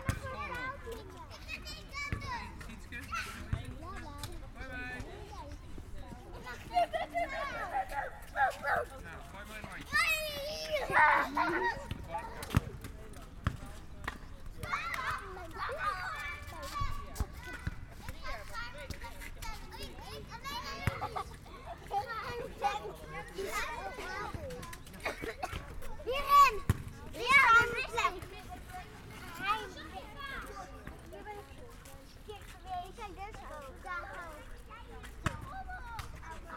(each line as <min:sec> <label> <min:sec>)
0:00.0 Children playing 0:36.5